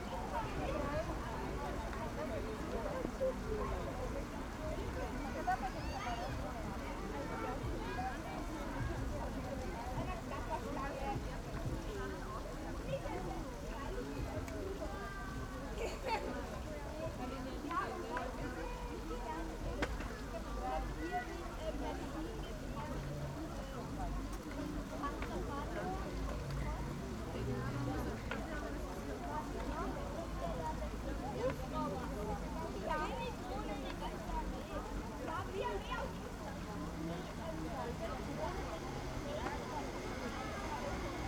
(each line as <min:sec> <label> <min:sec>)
0:00.0 fountain 0:41.2